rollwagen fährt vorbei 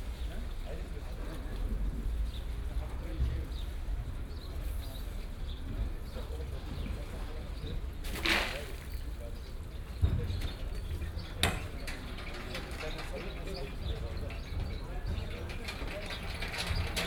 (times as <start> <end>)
8.6 17.0